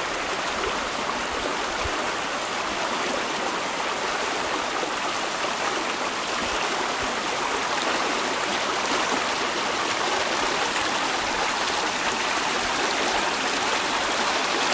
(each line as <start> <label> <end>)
0.0 Moderately flowing stream 14.7